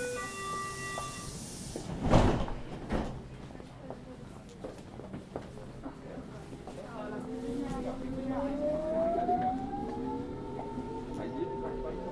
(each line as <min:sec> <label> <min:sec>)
0:00.0 train 0:12.1